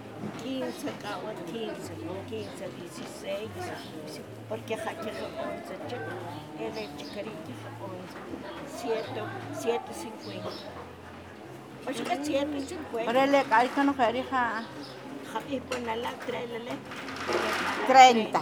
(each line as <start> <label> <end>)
0.0 Conversation in Tzutujil 18.4